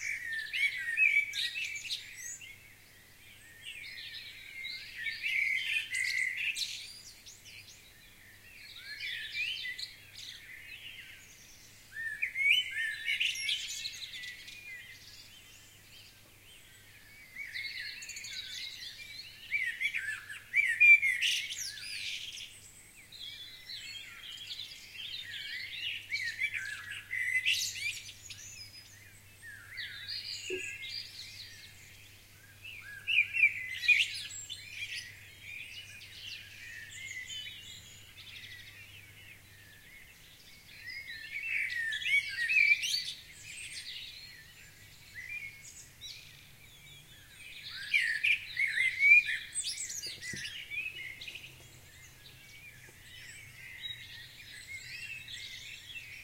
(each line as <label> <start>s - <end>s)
Dawn Chorus Birds 0.0s - 56.2s